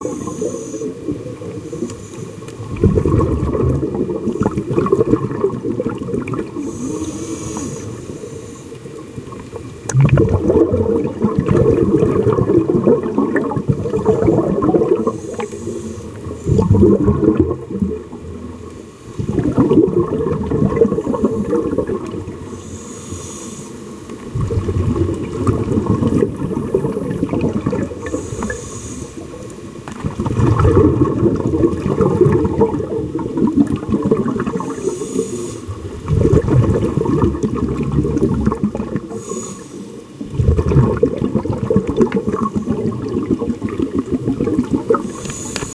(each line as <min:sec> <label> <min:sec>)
0:00.0 bubbles 0:22.6
0:00.1 breathing 0:01.0
0:01.6 breathing 0:02.4
0:06.6 breathing 0:09.0
0:15.0 breathing 0:16.6
0:22.5 breathing 0:24.0
0:24.1 bubbles 0:39.4
0:28.0 breathing 0:29.4
0:34.6 breathing 0:35.8
0:39.1 breathing 0:40.1
0:40.0 bubbles 0:45.7
0:45.1 breathing 0:45.7